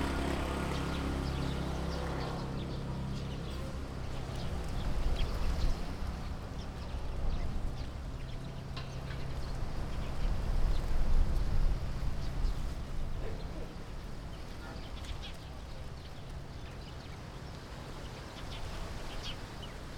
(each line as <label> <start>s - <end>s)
Traffic Sound 0.0s - 13.8s
Birds singing 0.0s - 19.9s